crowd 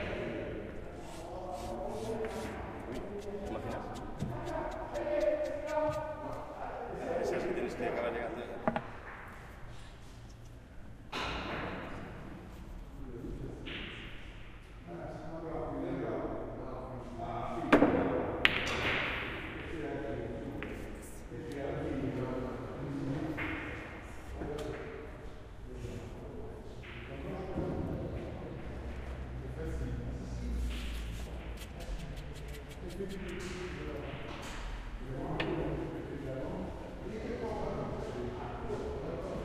0.0s 8.5s

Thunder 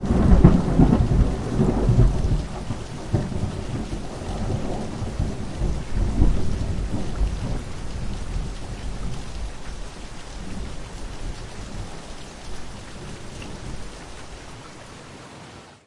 0.0s 9.7s

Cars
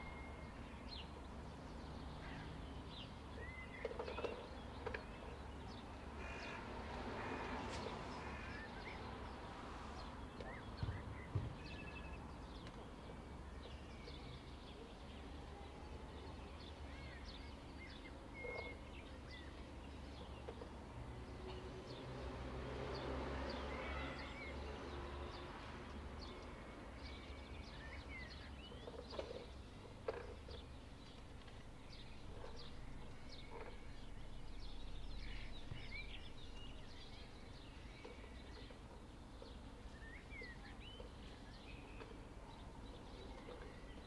5.7s 12.8s, 20.2s 28.1s

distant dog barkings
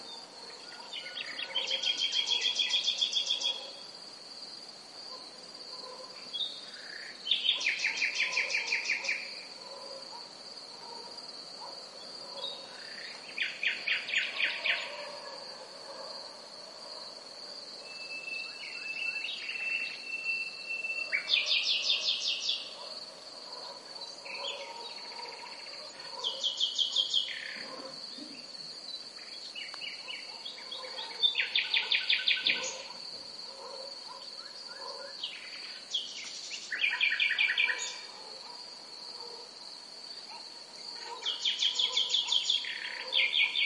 0.4s 2.6s, 3.4s 3.9s, 5.1s 6.3s, 7.5s 12.7s, 14.2s 17.2s, 21.0s 26.6s, 27.4s 28.5s, 30.0s 35.2s, 37.6s 39.6s, 40.2s 43.6s

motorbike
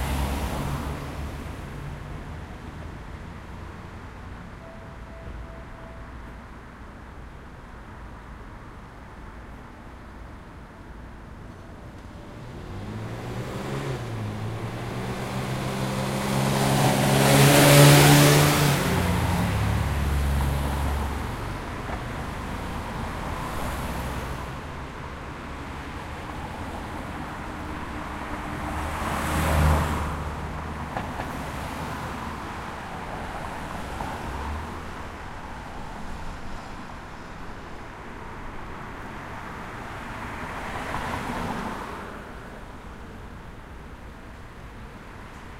12.1s 20.7s

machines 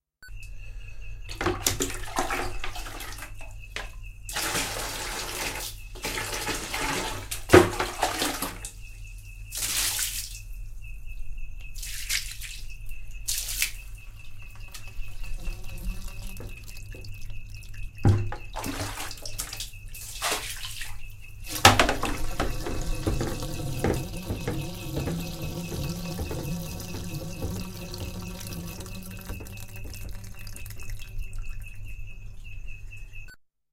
14.4s 18.4s, 21.5s 31.3s

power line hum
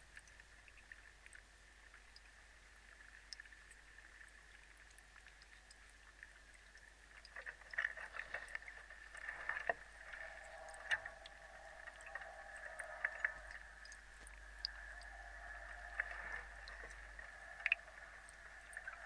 7.3s 19.0s

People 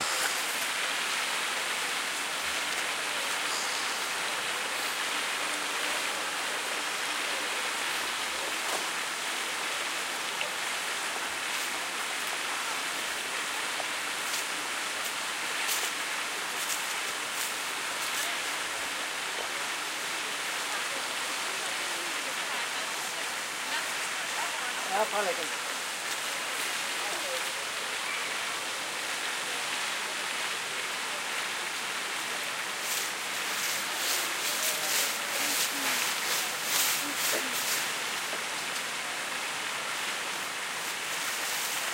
18.0s 39.5s

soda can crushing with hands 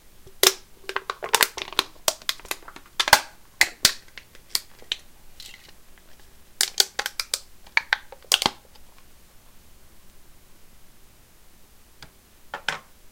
0.3s 8.8s

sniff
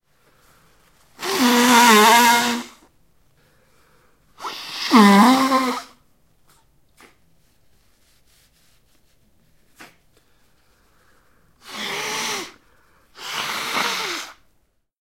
3.4s 5.9s, 9.7s 14.4s

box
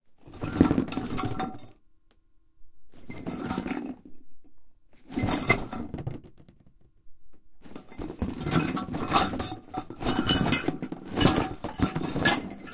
7.6s 12.7s

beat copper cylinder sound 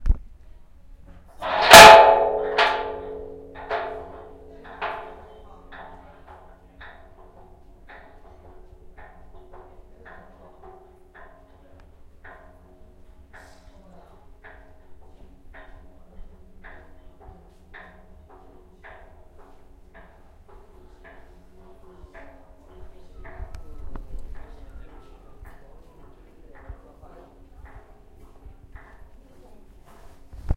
1.4s 12.9s

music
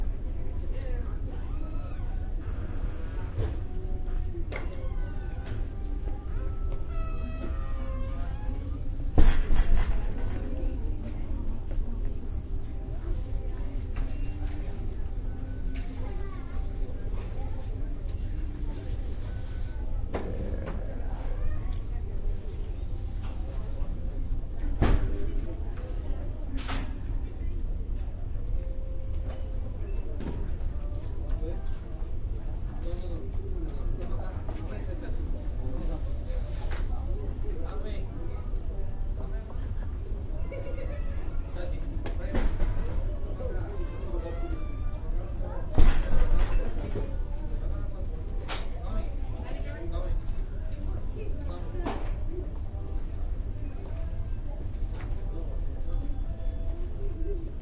1.5s 21.4s, 43.7s 45.4s

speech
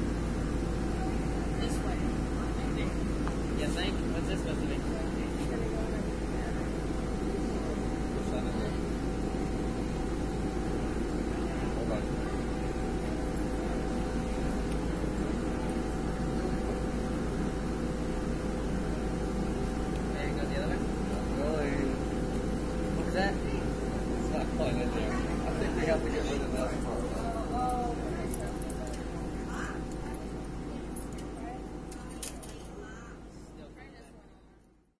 0.9s 9.0s, 22.9s 34.7s

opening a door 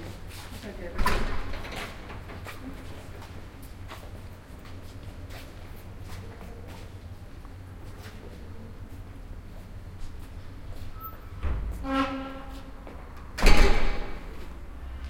1.0s 2.5s, 11.0s 14.5s

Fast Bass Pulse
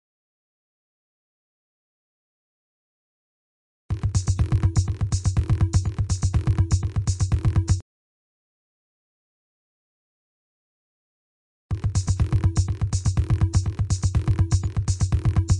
3.9s 7.8s, 11.7s 15.5s

